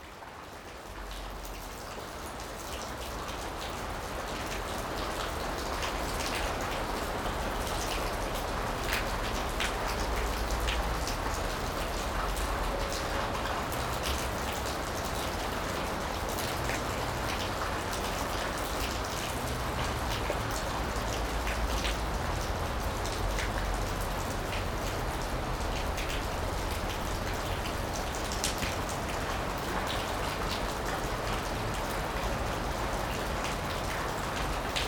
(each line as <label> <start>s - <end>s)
raining a lot 0.0s - 34.8s